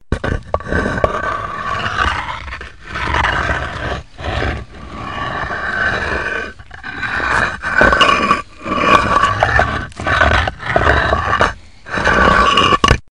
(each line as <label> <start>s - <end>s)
concrete blocks being slid on hard ground 0.1s - 13.1s